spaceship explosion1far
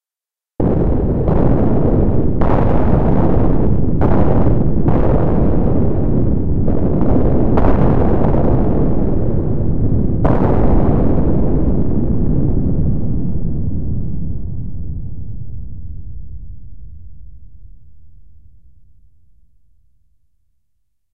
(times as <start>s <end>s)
0.6s 17.1s